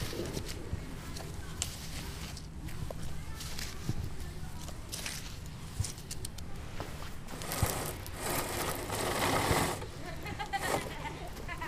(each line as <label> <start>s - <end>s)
playground sounds 0.0s - 11.6s